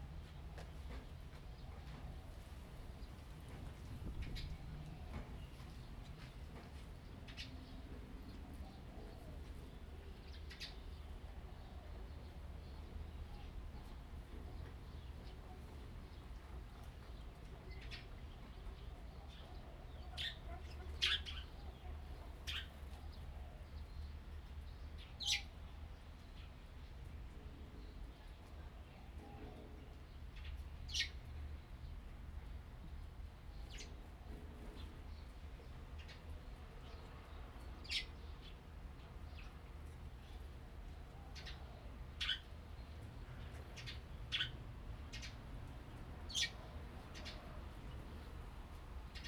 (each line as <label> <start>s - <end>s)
Birds singing 7.0s - 26.6s
Birds singing 33.0s - 49.2s